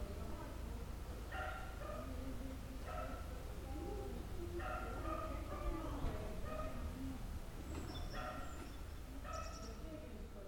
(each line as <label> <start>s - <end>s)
People chatting in the background 0.0s - 10.4s
dog is barking 1.3s - 2.1s
dog is barking 4.6s - 5.7s
Birds tweeting 7.6s - 10.0s
dog is barking 8.2s - 8.5s